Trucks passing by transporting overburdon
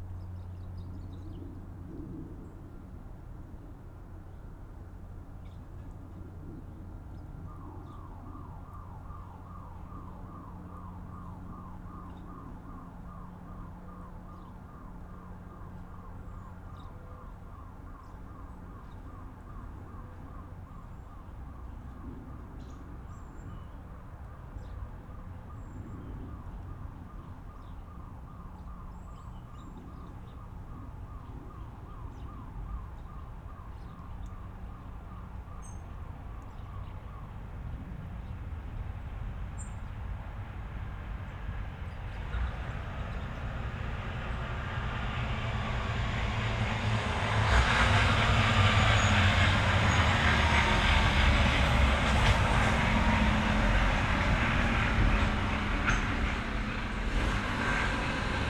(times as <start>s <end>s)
38.6s 58.4s